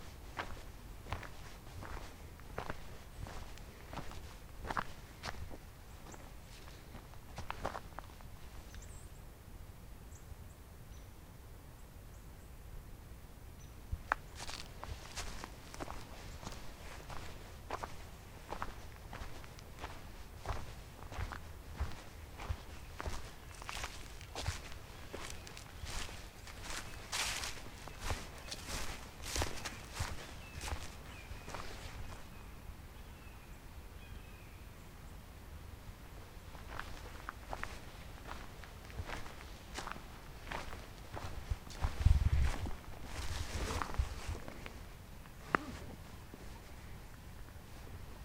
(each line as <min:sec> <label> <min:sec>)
0:00.0 steps 0:08.2
0:13.6 birds calls out 0:34.6
0:14.1 steps 0:32.2
0:36.6 steps 0:44.8